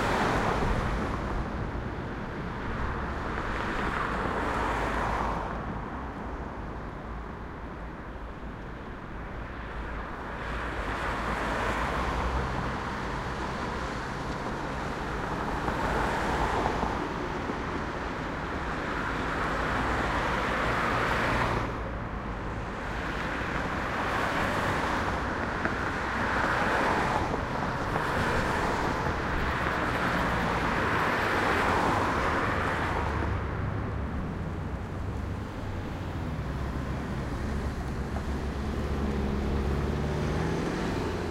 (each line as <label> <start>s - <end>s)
Cars 0.0s - 41.3s
Tram 21.4s - 41.3s
train 26.6s - 31.0s